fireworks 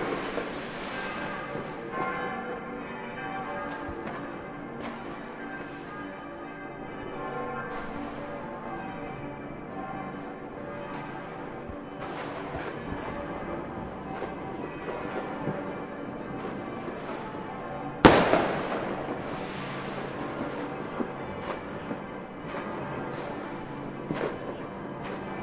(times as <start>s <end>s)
0.0s 2.1s, 12.0s 17.4s, 18.0s 25.4s